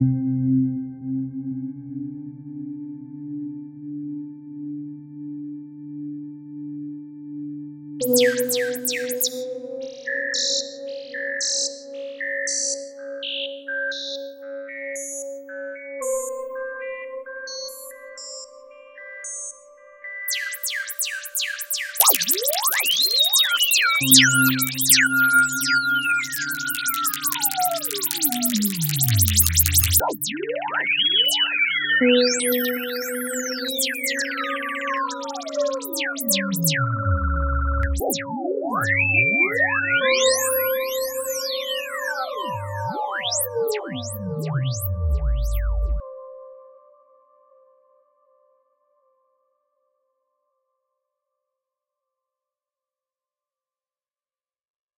20.3s microKorg 46.0s

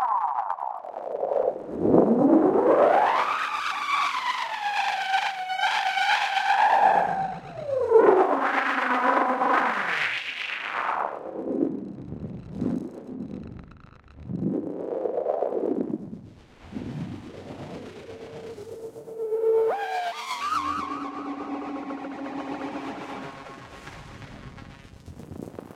16.6s Frequency and filter sweeps 25.0s

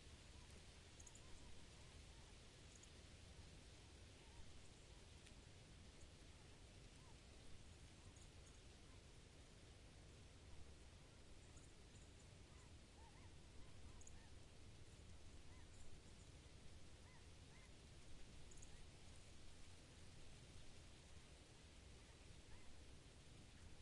0.0s Wind in a small clump of broad-leaf trees 23.8s

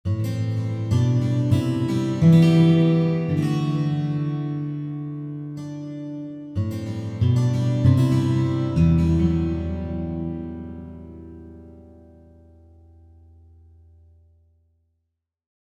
0.1s Guitar Chords 14.1s

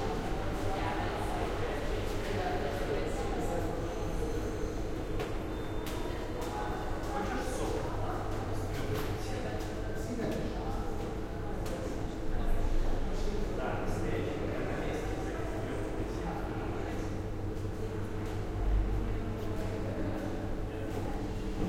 0.0s People talking 21.6s

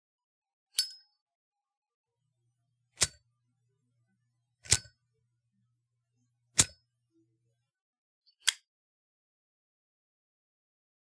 3.0s opening, igniting and closing a Zippo lighter 3.2s
4.6s opening, igniting and closing a Zippo lighter 5.0s
6.5s opening, igniting and closing a Zippo lighter 6.8s

